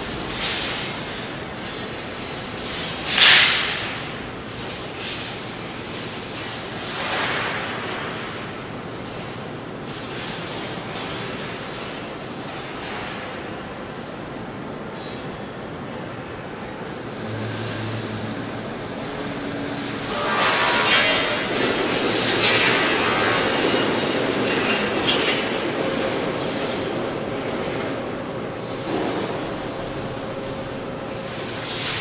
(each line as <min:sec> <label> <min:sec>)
0:00.0 heavy machinery 0:32.0
0:16.9 distant voices 0:31.7